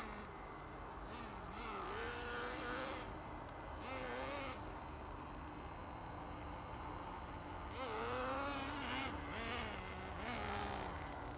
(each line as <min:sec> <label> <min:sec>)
0:00.0 mad little car 0:11.3